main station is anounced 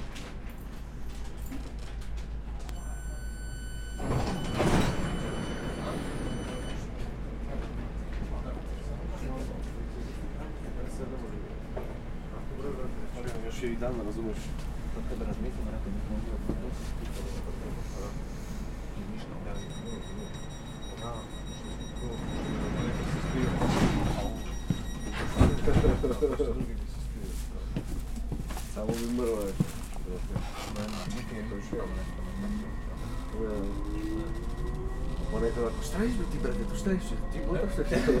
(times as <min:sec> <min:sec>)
0:02.6 0:07.0, 0:19.4 0:26.6, 0:30.9 0:38.2